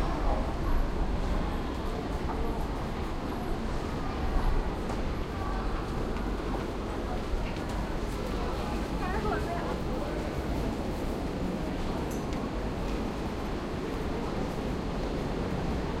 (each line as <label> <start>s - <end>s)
people talking 0.0s - 10.7s
bus 0.0s - 16.0s